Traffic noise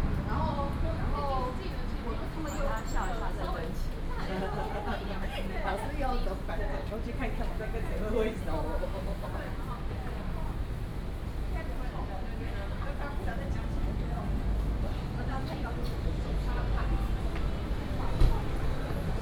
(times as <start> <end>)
0.0 4.3, 12.4 19.2